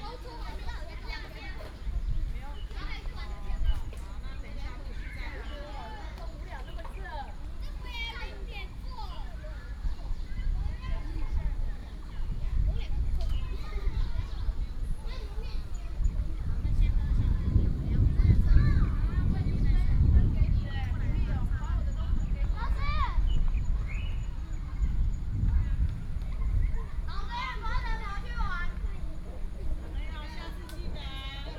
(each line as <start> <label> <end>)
0.0 Child 1.9
7.6 Child 20.5
20.0 Birdsong 28.5
26.2 Child 29.4